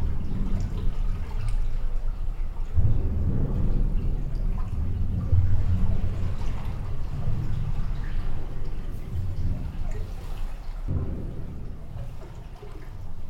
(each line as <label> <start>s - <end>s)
sluice gate 2.8s - 13.2s